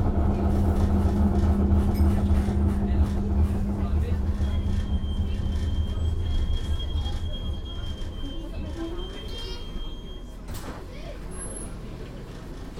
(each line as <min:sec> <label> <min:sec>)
0:00.0 tramway 0:12.7